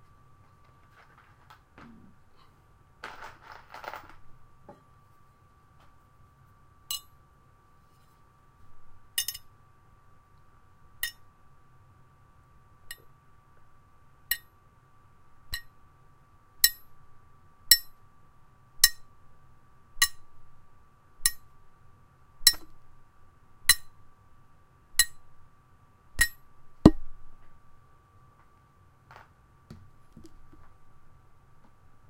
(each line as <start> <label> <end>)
3.0 Shaking and dropping screws 4.2